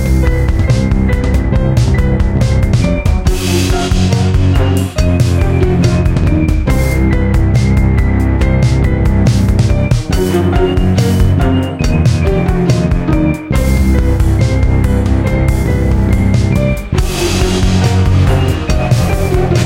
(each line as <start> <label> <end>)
0.0 Music 19.6